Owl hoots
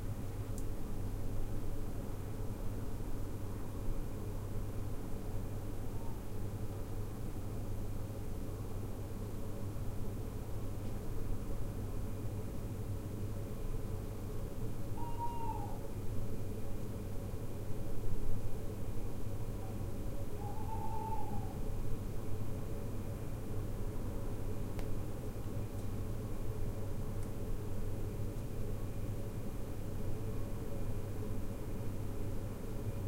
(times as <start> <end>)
5.9 6.3, 14.9 15.9, 19.6 21.6